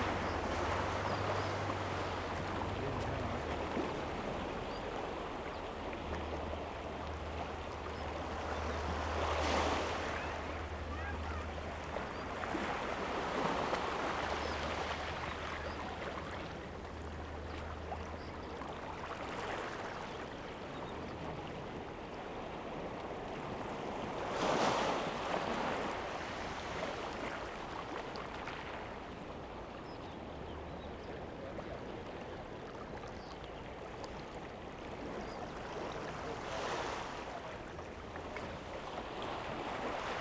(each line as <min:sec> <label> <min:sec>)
0:00.0 waves 0:40.2
0:00.0 Birdsong 0:06.4